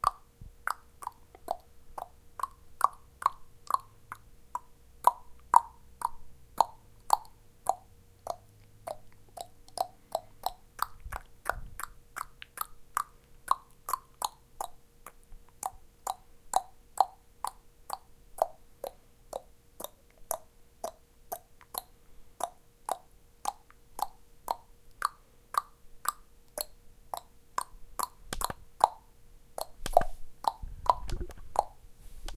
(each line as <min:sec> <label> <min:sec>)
0:00.0 tongue to create clicking sounds in my mouth 0:32.3